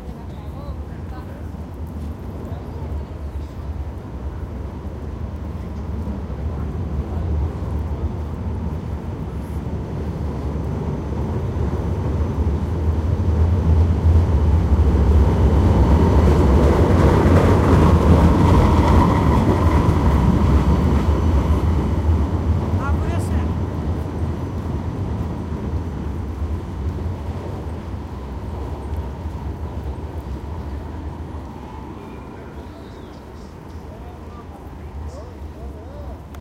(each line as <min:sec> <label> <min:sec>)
0:00.0 tram rolling 0:36.4